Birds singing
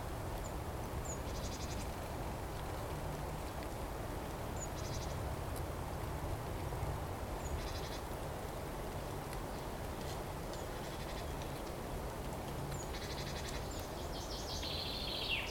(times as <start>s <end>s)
0.4s 1.9s, 4.6s 5.2s, 7.4s 8.1s, 12.7s 15.5s